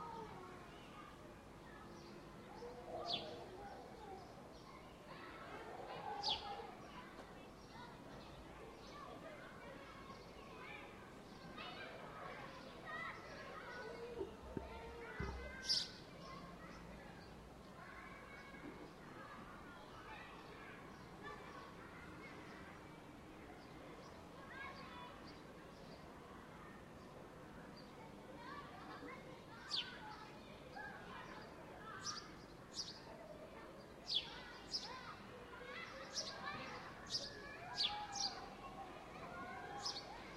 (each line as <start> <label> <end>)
0.0 childs 40.3
0.0 people 40.3
1.7 birds 22.8
26.9 birds 40.3